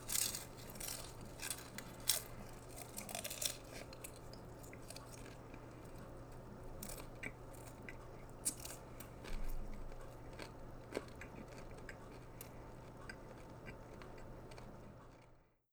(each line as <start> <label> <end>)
0.0 eating popcorn 15.4